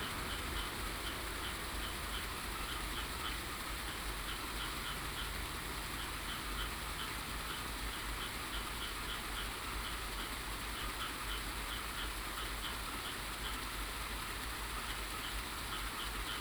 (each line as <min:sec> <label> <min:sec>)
0:00.0 Traffic sound 0:03.4